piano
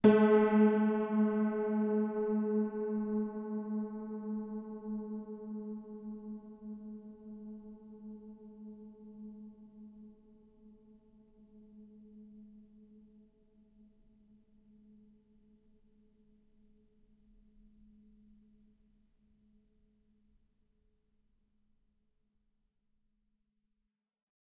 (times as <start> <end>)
0.0 9.0